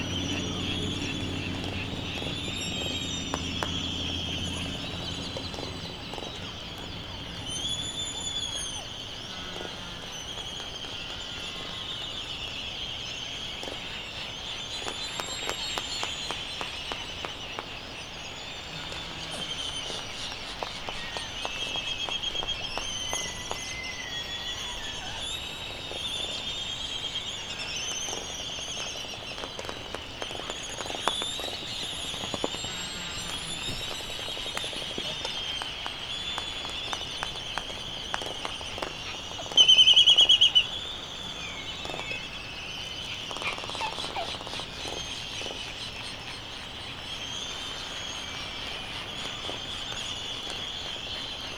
0.0s canaries 51.5s
0.0s white terns 51.5s
18.5s laysan albatross 26.0s
27.9s laysan albatross 46.5s

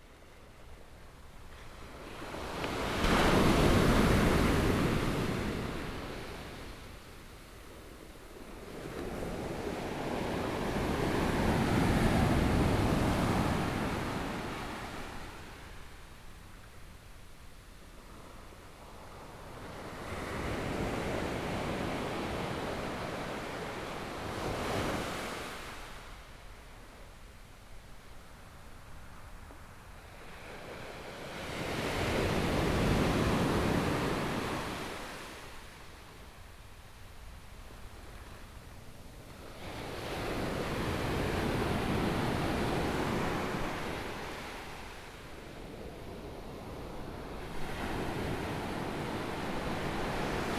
1.5s waves 7.2s
29.0s waves 50.5s

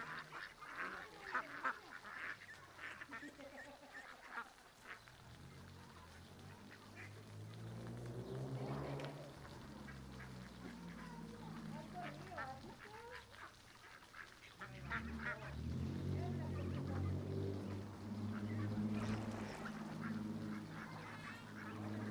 0.0s pequeños escalones en el río que hacen pequeñas cascadas 22.1s
0.0s fuente grande con una tinaja de donde sale agua en cascada 22.1s
5.8s niños emocionados 22.1s

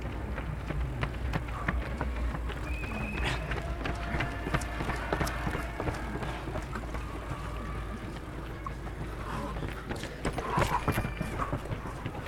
1.5s applaudissements du public 12.2s

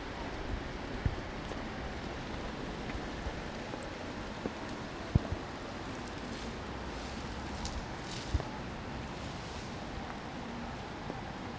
0.0s Bus 11.5s

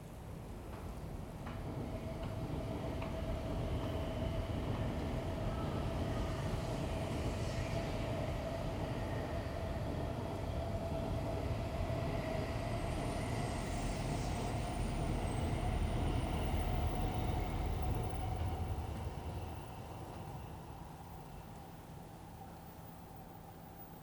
0.0s subway trains 24.0s

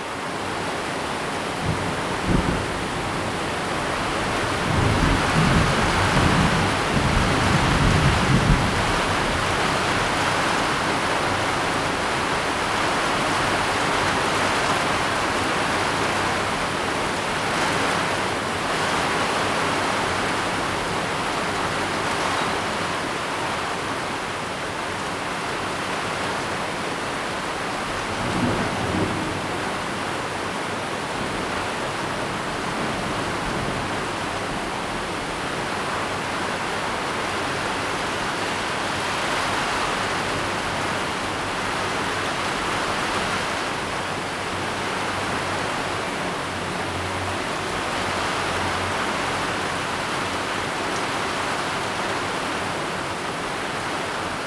1.4s thunderstorm 20.8s
27.8s thunderstorm 50.8s

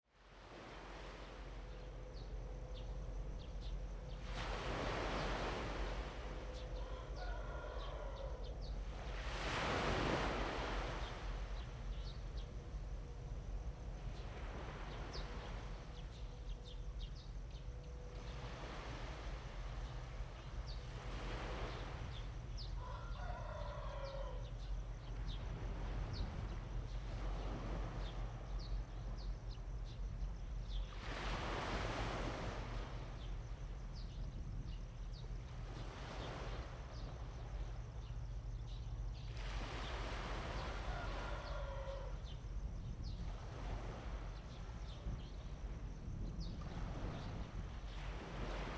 0.1s waves 48.7s
6.5s Bird cry 8.8s
6.7s Chicken crowing 8.6s
22.6s Bird cry 24.6s
22.8s Chicken crowing 24.5s
40.5s Bird cry 42.4s
40.6s Chicken crowing 42.2s

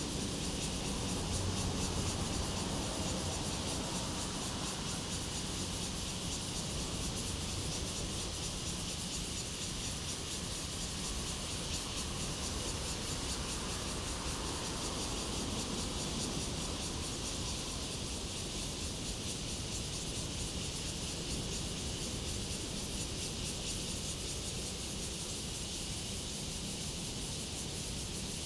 0.0s Cicadas sound 28.4s
0.2s Traffic Sound 8.4s

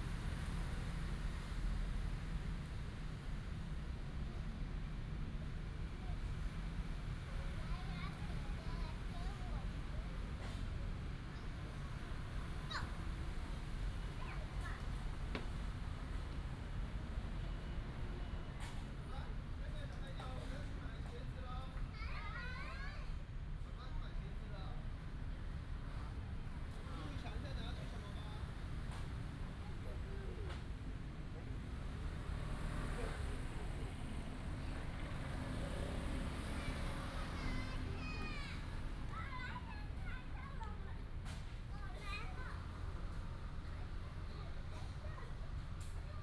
0.0s Traffic sound 46.2s
7.2s Child 10.6s
11.2s Child 15.5s
21.7s Child 23.3s
28.9s Child 30.8s
34.7s Child 46.2s

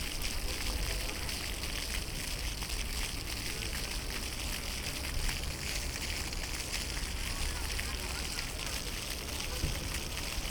0.0s fountain 10.5s

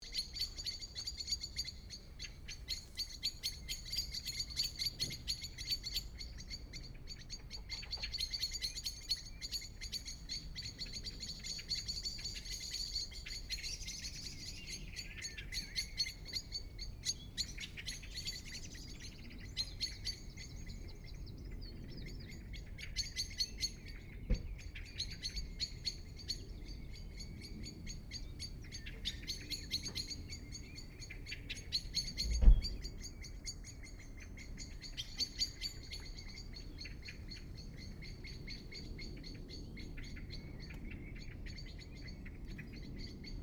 0.0s Birds 43.4s

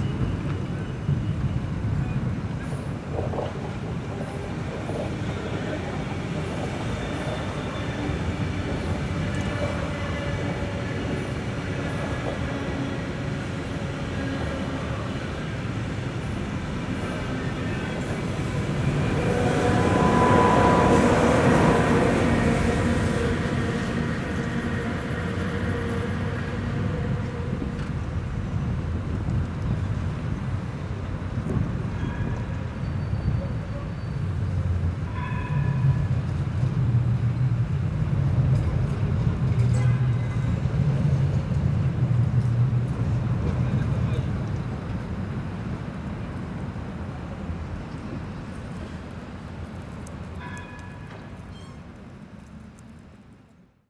0.0s cars 32.8s
0.0s trams 53.5s
0.0s Trains 53.8s

